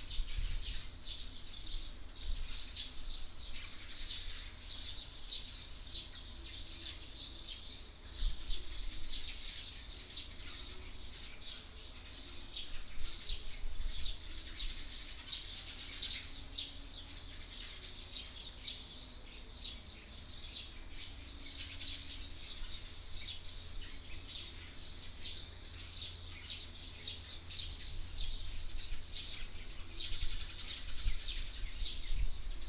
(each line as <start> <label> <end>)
0.0 Birdsong 32.6